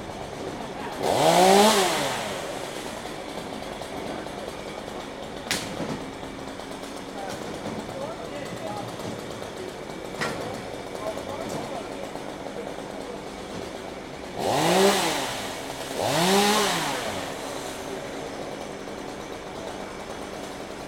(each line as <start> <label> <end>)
0.0 chainsaw 20.8
0.0 People talking in the background 14.4
2.3 truck crane 14.4